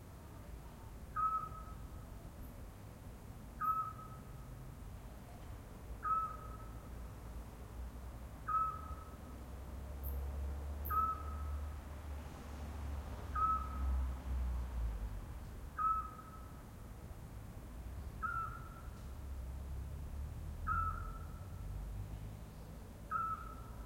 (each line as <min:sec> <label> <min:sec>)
0:00.0 traffic 0:23.8
0:01.1 pygmy-owl (small owl) 0:01.9
0:03.6 pygmy-owl (small owl) 0:04.3
0:06.0 pygmy-owl (small owl) 0:06.8
0:08.4 pygmy-owl (small owl) 0:09.2
0:10.8 pygmy-owl (small owl) 0:11.6
0:13.3 pygmy-owl (small owl) 0:13.9
0:15.7 pygmy-owl (small owl) 0:16.6
0:18.1 pygmy-owl (small owl) 0:19.0
0:20.6 pygmy-owl (small owl) 0:21.6
0:23.1 pygmy-owl (small owl) 0:23.8